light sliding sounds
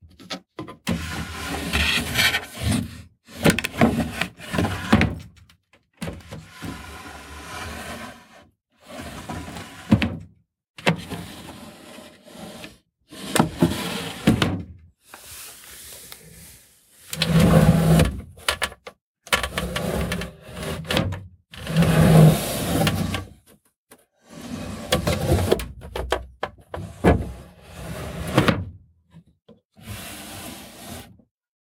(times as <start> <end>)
15.1 17.1